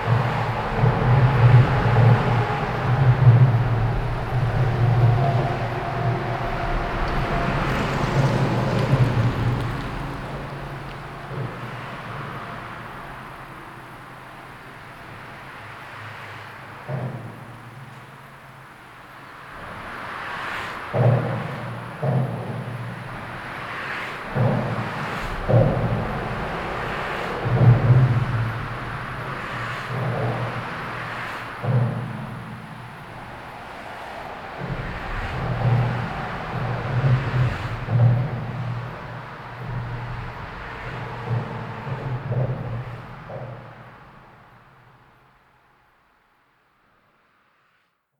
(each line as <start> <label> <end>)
0.0 Freeway Drums 46.6